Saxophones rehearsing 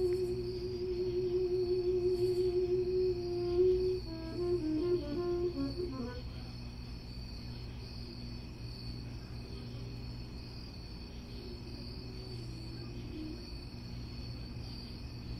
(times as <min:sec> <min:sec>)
0:00.0 0:06.4